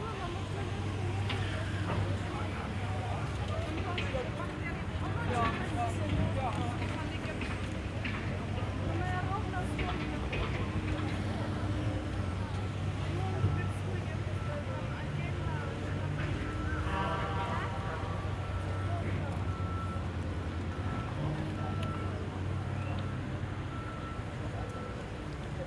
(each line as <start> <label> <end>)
0.0 Construction works 25.6
0.0 a tour guide 25.6
0.0 trams 25.6